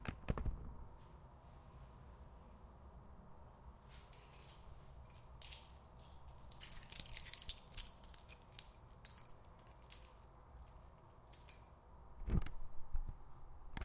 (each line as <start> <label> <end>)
3.8 shaking its keys 11.8